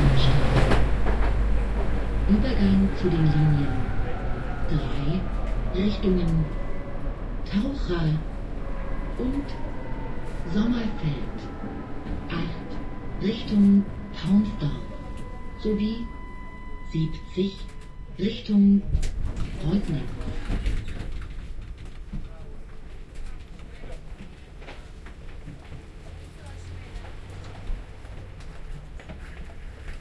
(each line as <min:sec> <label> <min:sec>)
0:00.0 ride with old, rattling tram 0:30.0
0:00.0 tram approaching 0:30.0
0:12.5 jingle signal 0:18.7